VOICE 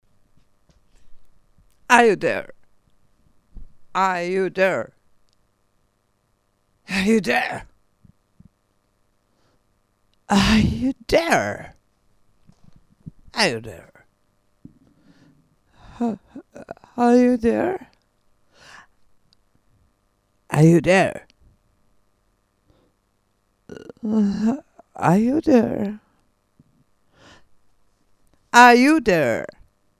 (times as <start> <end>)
1.9 2.5, 4.0 4.9, 6.9 7.7, 10.3 11.8, 13.4 14.0, 16.0 17.9, 20.5 21.3, 23.7 26.0, 28.6 29.6